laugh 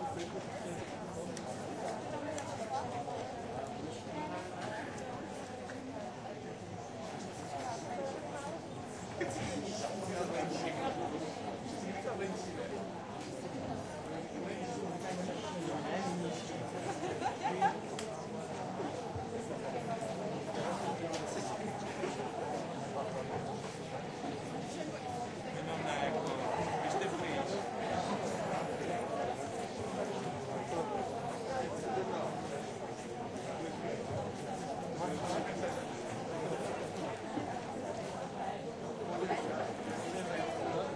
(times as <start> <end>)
16.9 17.8